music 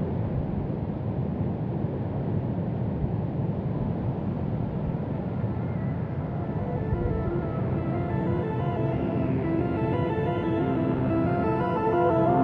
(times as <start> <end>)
5.4 12.4